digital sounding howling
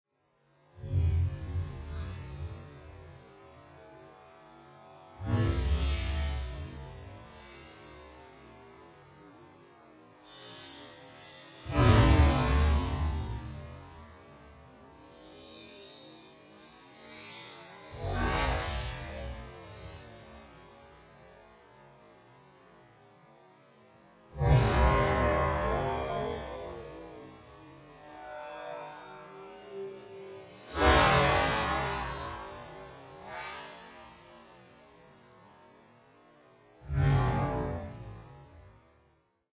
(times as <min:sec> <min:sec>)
0:15.0 0:17.1, 0:24.4 0:33.4